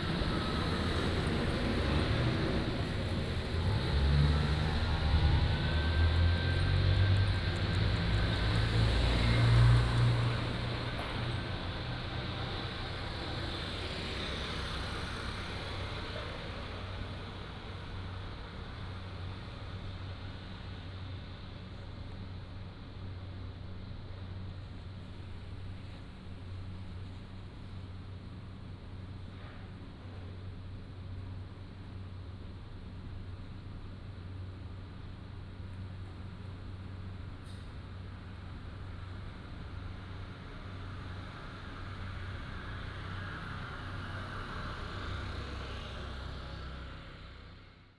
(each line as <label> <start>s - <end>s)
Traffic Sound 0.0s - 30.3s